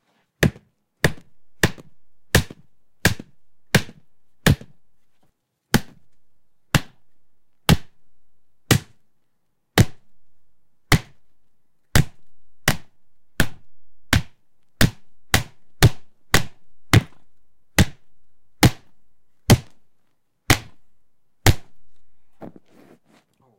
0.4s beating a nearly-ripe honeydew melon with a light wooden bat 4.9s
5.7s beating a nearly-ripe honeydew melon with a light wooden bat 9.0s
9.8s beating a nearly-ripe honeydew melon with a light wooden bat 10.2s
10.8s beating a nearly-ripe honeydew melon with a light wooden bat 11.3s
11.9s beating a nearly-ripe honeydew melon with a light wooden bat 19.9s
20.5s beating a nearly-ripe honeydew melon with a light wooden bat 22.0s

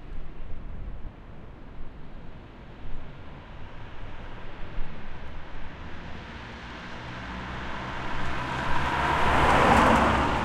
4.2s cars passing by 10.4s

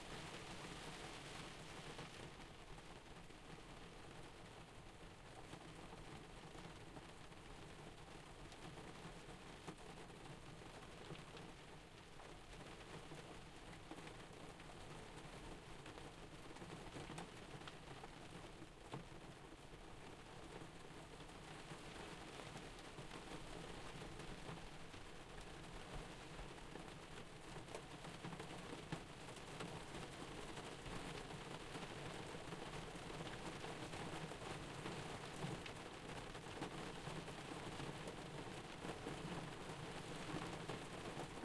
0.0s moderate rain on a window 41.4s

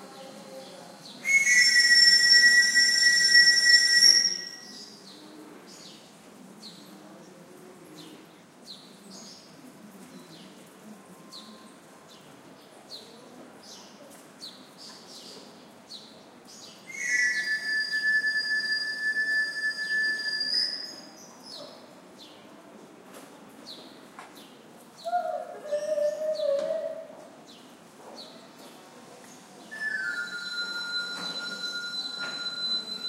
0.0s soft voices of people in background 33.0s
1.2s whistle of a wandering knife sharpener 4.9s
16.9s whistle of a wandering knife sharpener 21.1s
29.7s whistle of a wandering knife sharpener 33.0s

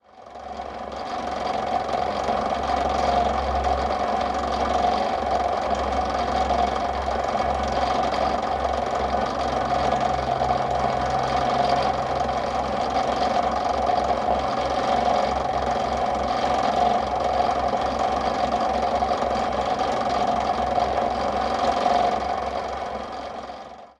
0.0s Disc Sander 23.9s

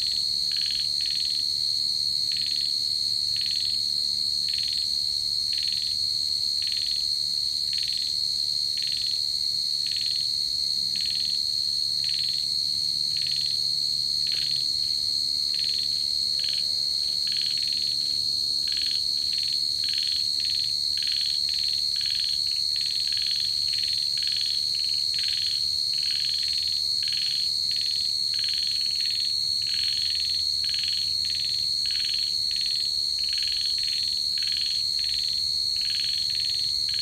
0.0s Cicadas 37.0s
0.0s Frogs 37.0s

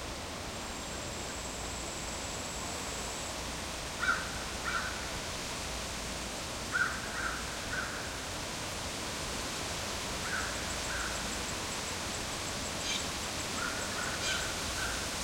0.0s insects 15.2s
4.0s finch crows bluejays 5.1s
6.7s finch crows bluejays 8.1s
10.2s finch crows bluejays 11.3s
12.8s finch crows bluejays 15.0s

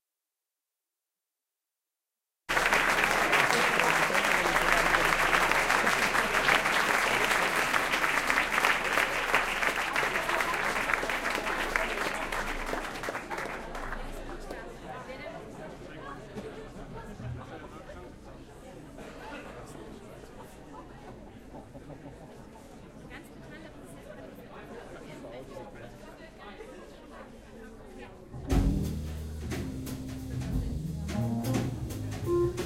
2.5s crowd 32.6s
2.5s little applause 14.2s

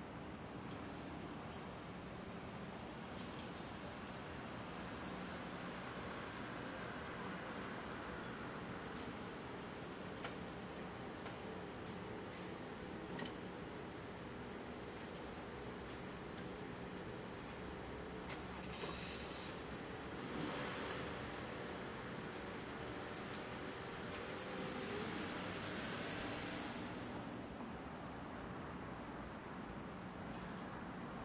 3.1s cars 28.7s

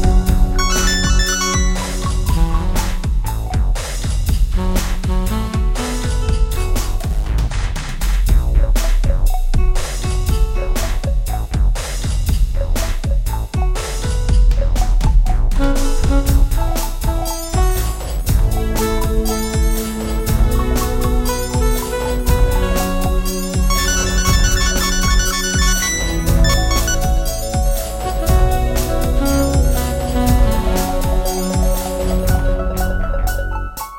0.0s Synth 3.0s
0.0s Guitar 3.7s
0.0s Beats 33.9s
15.6s Synth 33.2s
15.6s Guitar 33.9s

